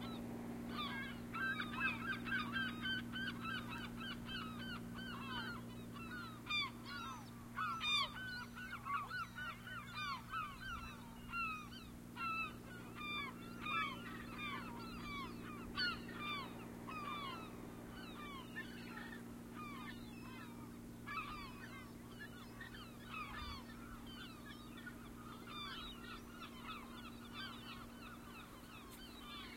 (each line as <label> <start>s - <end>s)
seagulls 0.0s - 29.5s